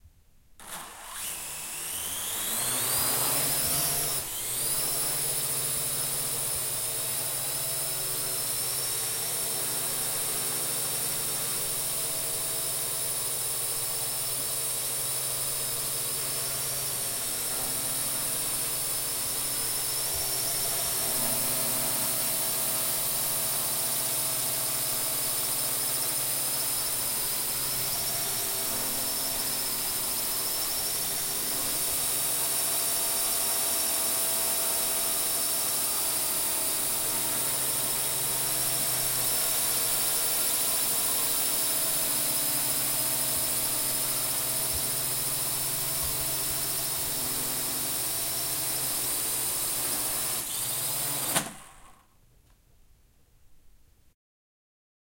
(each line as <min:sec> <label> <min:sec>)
0:00.6 drone quadrocopter launch far 0:06.9
0:50.3 drone quadrocopter launch far 0:52.1